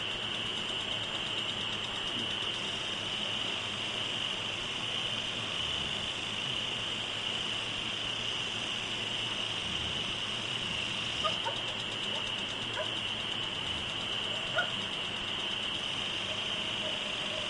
crickets 0.0 - 17.4
noise of a lawn sprinkler 0.0 - 17.4
distant dog barkings 11.2 - 13.1
distant dog barkings 14.3 - 14.9
distant dog barkings 16.2 - 17.4

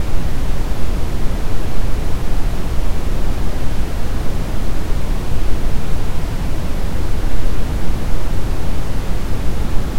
Brown Noise 0.0 - 9.9

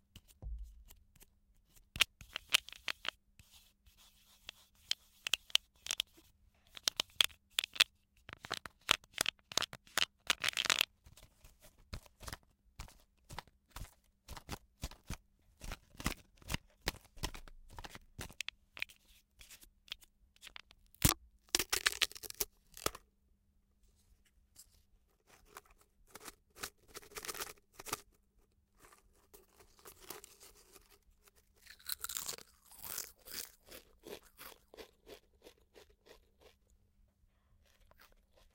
eating chips 31.6 - 36.7

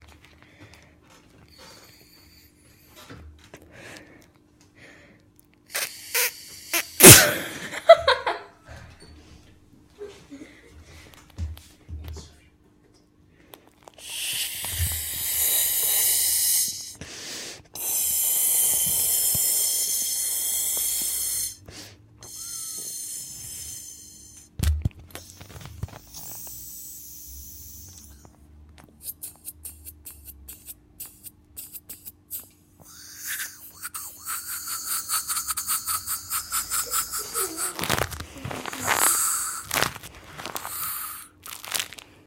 girl blowing up a rubber ball 5.7 - 7.5
girl blowing up a rubber ball 13.9 - 17.0
girl blowing up a rubber ball 17.8 - 21.6
girl blowing up a rubber ball 22.2 - 24.5
girl blowing up a rubber ball 25.2 - 28.3
girl blowing up a rubber ball 29.0 - 42.0

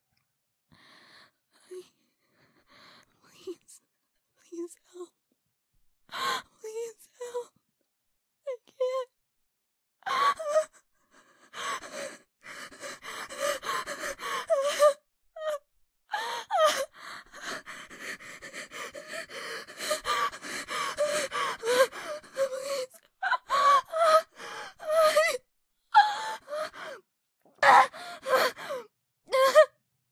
whispers 3.1 - 3.8
whispers 4.4 - 5.2

